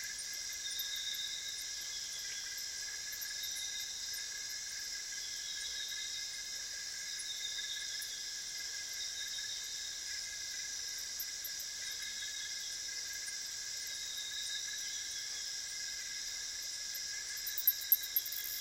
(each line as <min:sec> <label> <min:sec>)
0:00.0 crickets 0:18.6
0:00.0 frogs 0:18.6